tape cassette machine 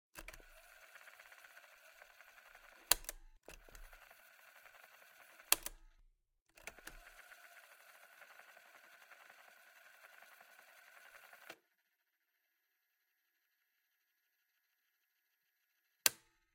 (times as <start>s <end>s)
0.2s 5.8s, 6.5s 11.6s